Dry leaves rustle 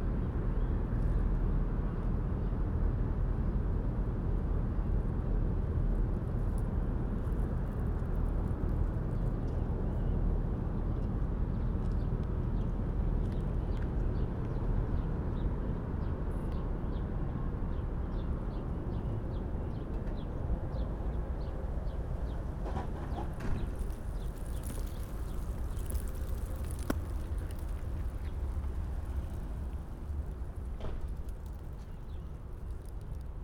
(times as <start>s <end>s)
23.6s 33.4s